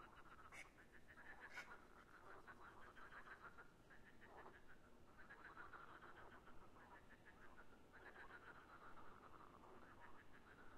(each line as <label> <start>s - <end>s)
frogs 0.0s - 10.7s